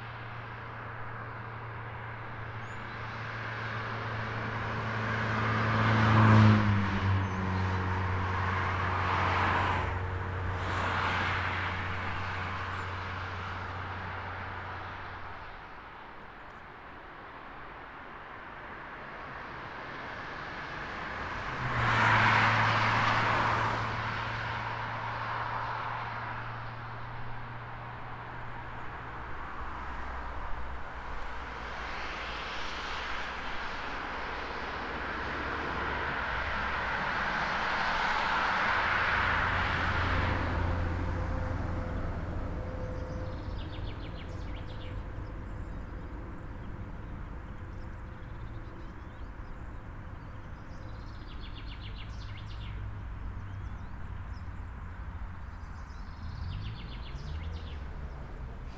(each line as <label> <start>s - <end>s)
vehicles 0.0s - 58.7s